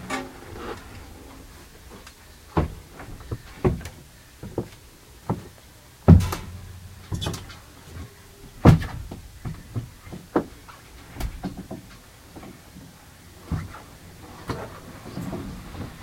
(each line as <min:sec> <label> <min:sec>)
0:00.0 creaking 0:03.9
0:00.0 wind 0:16.0